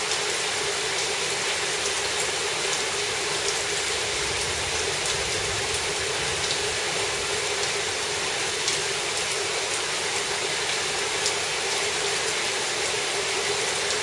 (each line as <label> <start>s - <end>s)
Heavy rain 0.0s - 14.0s
occasional thunder 3.8s - 8.2s